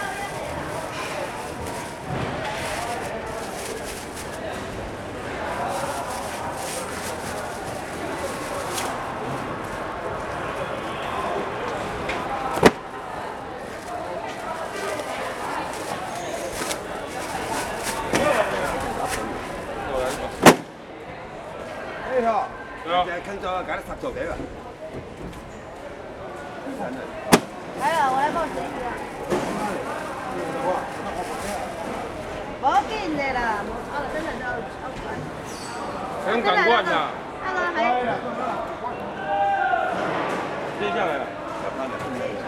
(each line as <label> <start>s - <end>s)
Traffic Sound 0.0s - 21.8s
Traffic Sound 25.2s - 35.4s